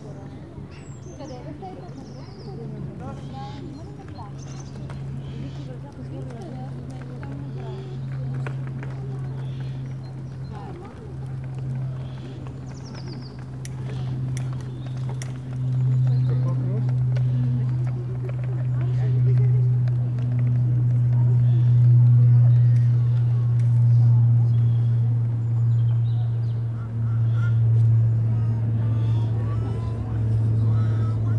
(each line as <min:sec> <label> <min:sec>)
0:01.4 people walking 0:31.3